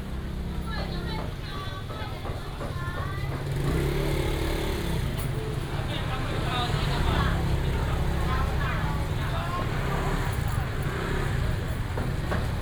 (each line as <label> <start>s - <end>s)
Walking in the traditional market 0.0s - 12.6s
traffic sound 0.0s - 12.6s